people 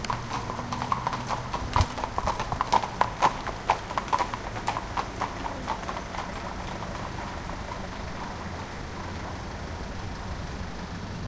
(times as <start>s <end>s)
5.0s 6.6s